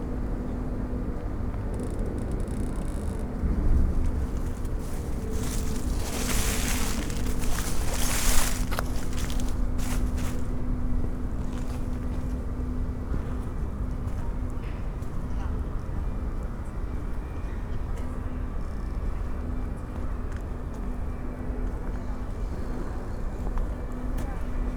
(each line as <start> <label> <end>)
1.7 rusty big wheel 12.3
3.0 pedestrians and joggers 24.7